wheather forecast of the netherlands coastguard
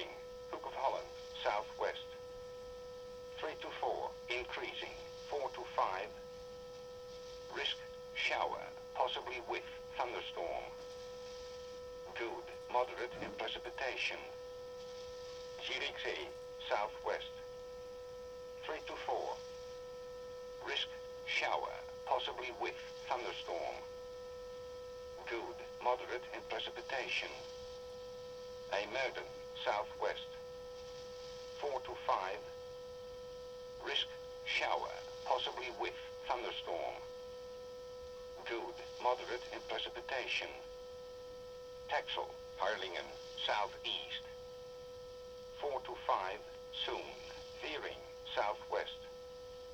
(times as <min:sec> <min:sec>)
0:00.0 0:02.3, 0:03.3 0:06.4, 0:07.2 0:14.4, 0:15.2 0:17.6, 0:18.6 0:19.6, 0:20.6 0:23.9, 0:25.1 0:27.6, 0:28.7 0:30.4, 0:31.2 0:32.5, 0:33.7 0:37.1, 0:38.3 0:40.8, 0:41.8 0:44.5, 0:45.5 0:49.1